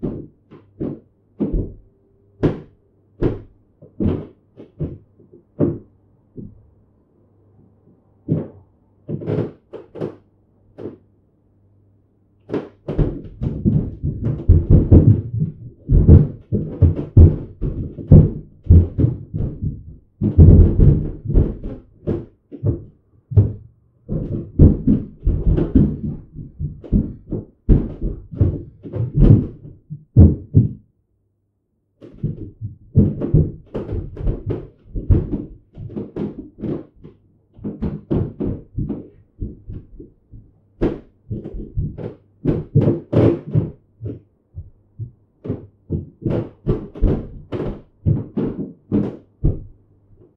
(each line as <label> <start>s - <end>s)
thumping and crashing, through a wall or ceiling 0.0s - 6.6s
thumping and crashing, through a wall or ceiling 8.2s - 11.1s
thumping and crashing, through a wall or ceiling 12.4s - 30.9s
footsteps 12.5s - 30.8s
thumping and crashing, through a wall or ceiling 32.0s - 50.3s
footsteps 32.0s - 49.7s